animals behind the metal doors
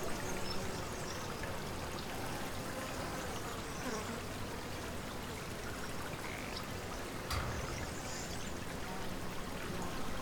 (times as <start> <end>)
7.3 8.8